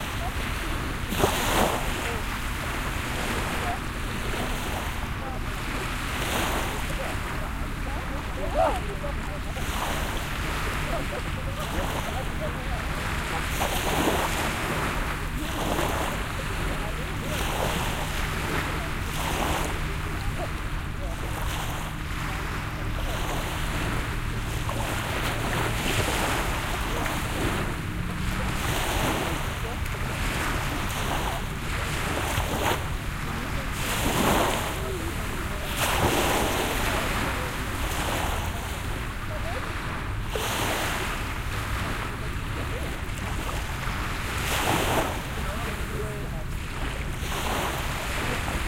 0.0s waves 48.6s
3.4s people 39.9s

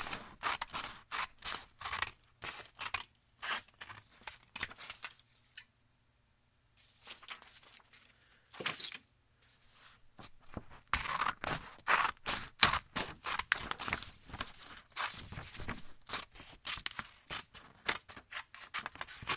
0.0s Sissors Cutting Paper 5.1s
10.4s Sissors Cutting Paper 19.3s

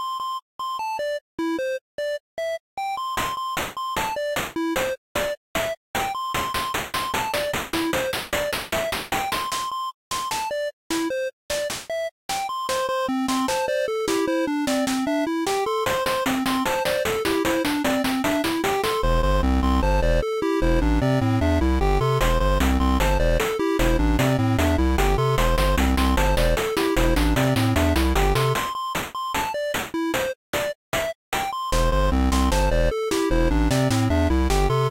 12.6s Pixel Song 30.4s

